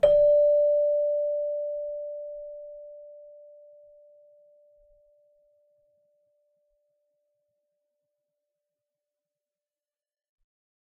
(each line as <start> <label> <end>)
0.0 celesta 6.0